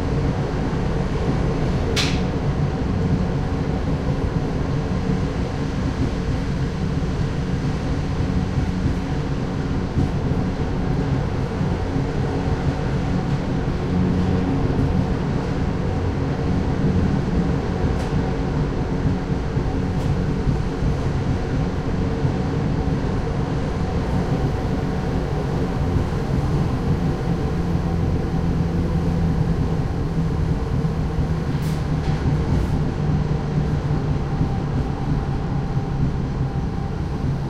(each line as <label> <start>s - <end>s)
little train climbing the Pyrenees mountains 0.0s - 37.4s